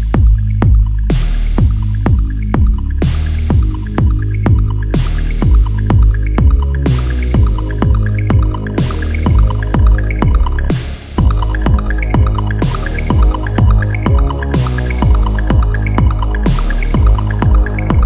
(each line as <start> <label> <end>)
0.0 Bass 18.0
0.0 Drums 18.0
0.0 Synth 18.0